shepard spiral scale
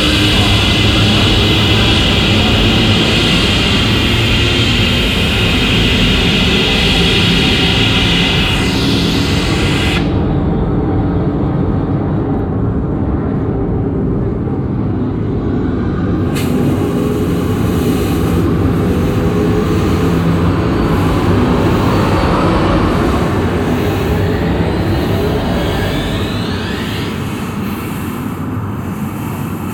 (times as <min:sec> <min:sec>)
0:00.0 0:10.3, 0:16.4 0:29.7